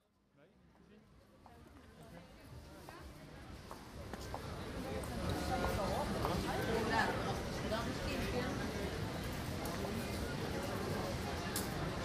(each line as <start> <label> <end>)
0.5 Walking through several departments 12.0